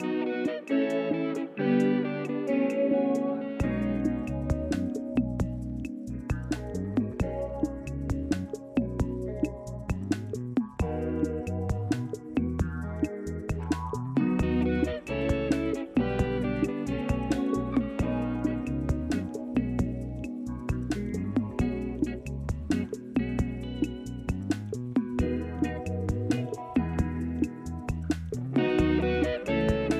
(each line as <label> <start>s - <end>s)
electric guitar melodies 0.0s - 7.8s
bass guitar 0.0s - 29.9s
percussion 0.0s - 29.9s
electric guitar melodies 14.2s - 22.2s
electric guitar melodies 28.5s - 29.9s